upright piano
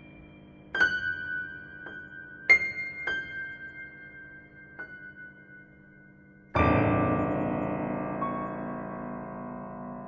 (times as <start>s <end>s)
6.6s 10.0s